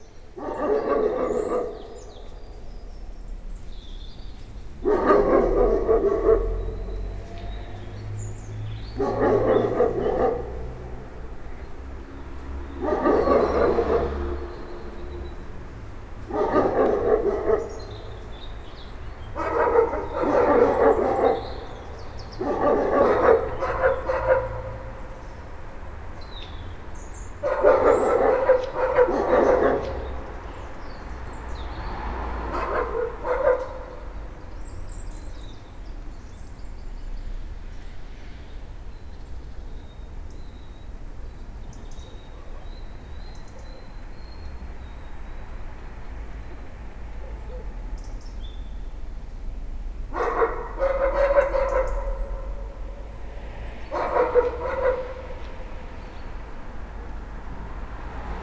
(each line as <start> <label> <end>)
0.3 old but still nasty dog is barking 2.7
4.8 old but still nasty dog is barking 35.6
42.0 old but still nasty dog is barking 44.5
46.9 old but still nasty dog is barking 48.2
50.0 old but still nasty dog is barking 58.4